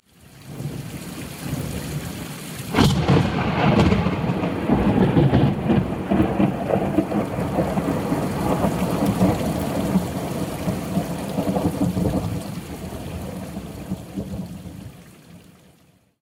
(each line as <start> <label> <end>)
0.0 rain 16.2
2.7 Loud Thunderclap 14.7